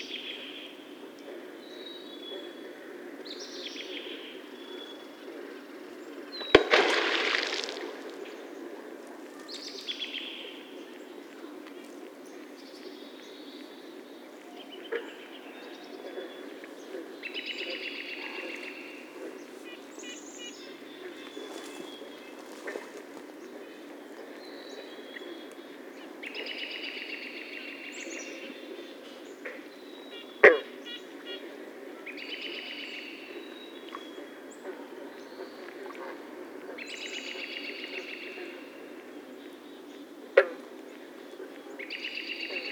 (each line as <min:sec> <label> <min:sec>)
0:06.4 beaver tail warning slaps 0:09.8